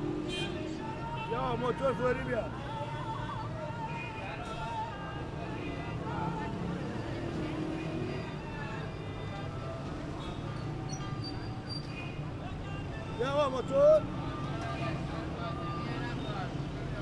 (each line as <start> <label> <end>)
0.3 Taxi drivers asking for passengers 7.1
11.6 Taxi drivers asking for passengers 17.0